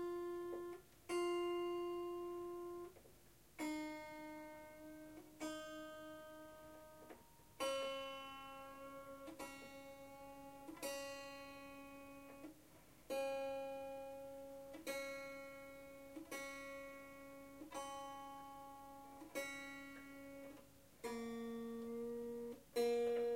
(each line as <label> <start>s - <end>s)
out of tune strum 0.0s - 23.3s
tuning of the Swarmandal's 15 strings 0.0s - 23.3s
in-tune strums and tinkles 13.1s - 23.3s